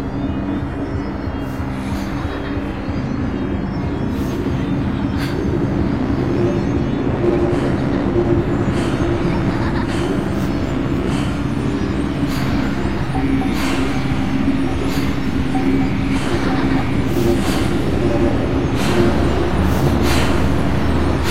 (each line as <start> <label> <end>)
0.0 synth 21.3
7.6 laughs 10.8
16.0 laughs 17.8